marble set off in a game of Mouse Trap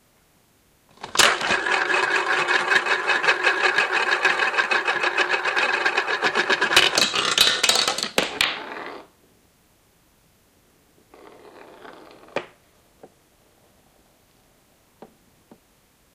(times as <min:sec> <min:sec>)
0:01.0 0:09.0